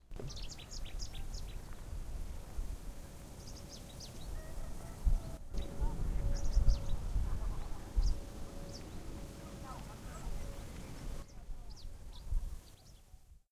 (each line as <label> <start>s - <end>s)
bird singing 0.0s - 1.8s
bird singing 3.1s - 13.2s